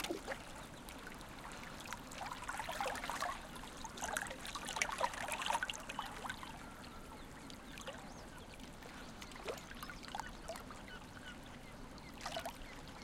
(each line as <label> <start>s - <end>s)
birds in background 5.8s - 13.0s